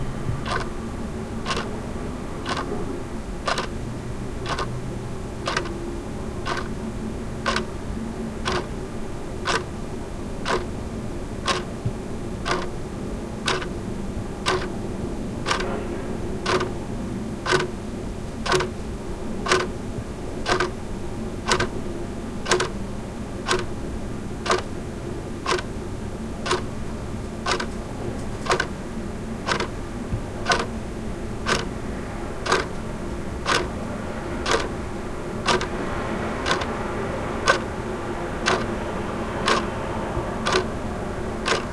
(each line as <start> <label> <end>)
0.4 Ticking of the clock 0.7
1.4 Ticking of the clock 1.7
2.4 Ticking of the clock 2.7
3.5 Ticking of the clock 3.7
4.4 Ticking of the clock 4.7
5.4 Ticking of the clock 5.8
6.4 Ticking of the clock 6.8
7.4 Ticking of the clock 7.7
8.4 Ticking of the clock 8.7
9.4 Ticking of the clock 9.7
10.4 Ticking of the clock 10.8
11.4 Ticking of the clock 11.8
12.4 Ticking of the clock 12.8
13.4 Ticking of the clock 13.8
14.4 Ticking of the clock 14.7
15.5 Ticking of the clock 15.8
16.4 Ticking of the clock 16.8
17.4 Ticking of the clock 17.8
18.4 Ticking of the clock 18.8
19.4 Ticking of the clock 19.7
20.4 Ticking of the clock 20.8
21.5 Ticking of the clock 21.8
22.4 Ticking of the clock 22.8
23.5 Ticking of the clock 23.8
24.4 Ticking of the clock 24.7
25.4 Ticking of the clock 25.7
26.4 Ticking of the clock 26.7
27.4 Ticking of the clock 27.7
28.5 Ticking of the clock 28.7
29.5 Ticking of the clock 29.8
30.4 Ticking of the clock 30.8
31.4 Ticking of the clock 31.8
32.5 Ticking of the clock 32.8
33.5 Ticking of the clock 33.7
34.4 Ticking of the clock 34.8
35.5 Ticking of the clock 35.7
36.4 Ticking of the clock 36.7
38.4 Ticking of the clock 38.7
39.5 Ticking of the clock 39.8
40.4 Ticking of the clock 40.7
41.4 Ticking of the clock 41.7